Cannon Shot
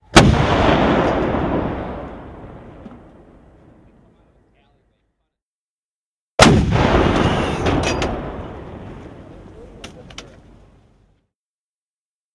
0.1s 4.0s, 6.4s 9.5s

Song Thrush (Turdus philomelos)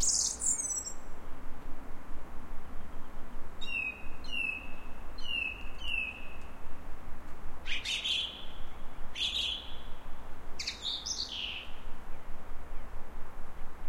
0.0s 1.4s, 2.6s 6.9s, 7.6s 13.0s

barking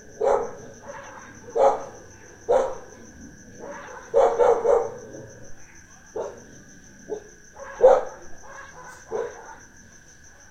0.2s 3.0s, 3.6s 5.5s, 6.2s 6.5s, 7.1s 9.7s

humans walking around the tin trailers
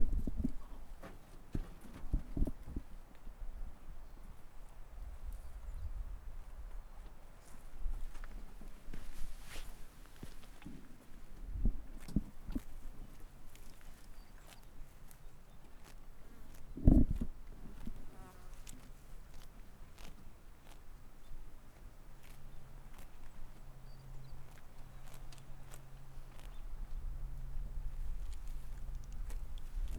0.0s 3.3s, 6.9s 20.8s

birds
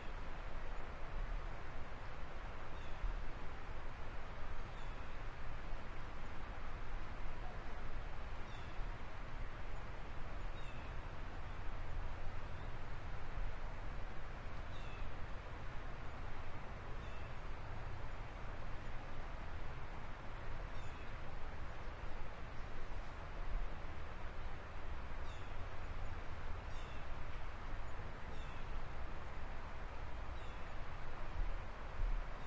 24.4s 28.8s, 30.2s 31.5s

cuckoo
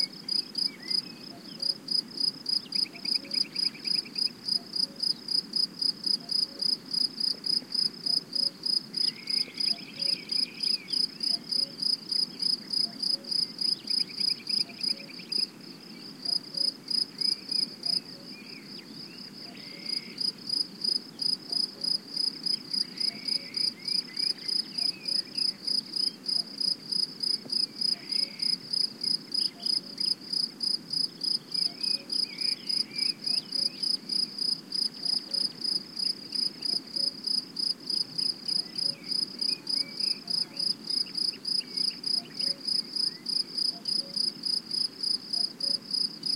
8.1s 11.8s, 19.4s 20.2s, 22.8s 25.4s, 27.9s 28.6s, 41.6s 44.3s

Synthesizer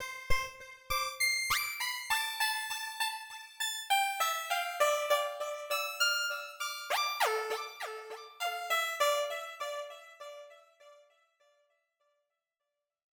4.3s 10.6s

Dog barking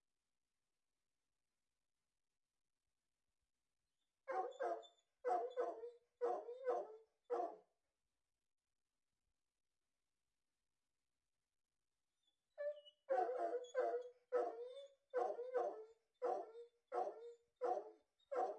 4.3s 7.6s, 13.1s 18.5s

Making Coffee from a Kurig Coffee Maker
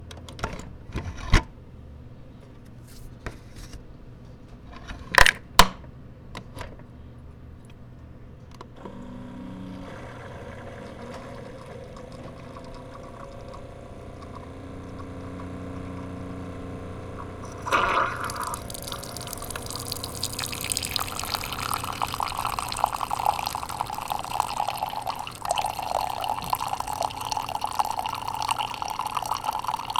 8.6s 29.9s

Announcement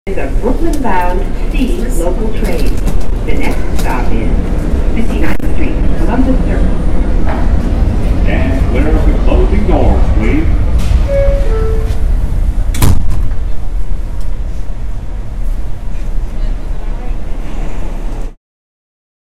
0.1s 6.9s, 8.1s 12.2s

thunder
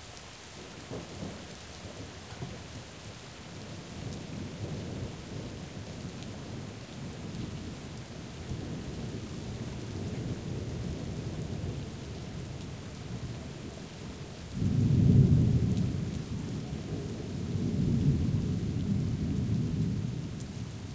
14.6s 20.4s

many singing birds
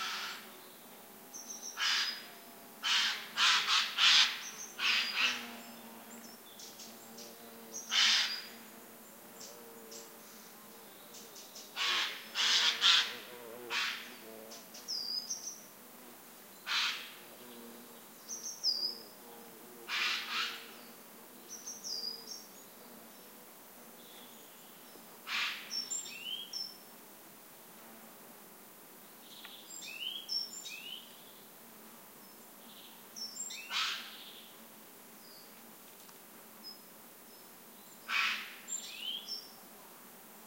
20.3s 23.4s, 24.0s 26.8s, 38.7s 39.6s

